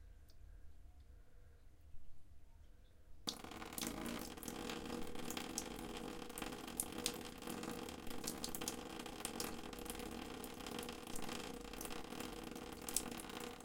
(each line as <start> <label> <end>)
3.3 Water dripping 13.6